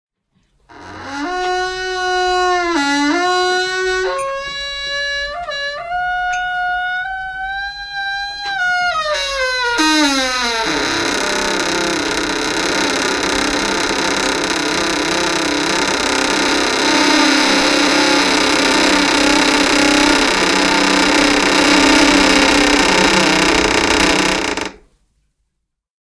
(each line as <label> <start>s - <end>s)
creaking 0.6s - 24.9s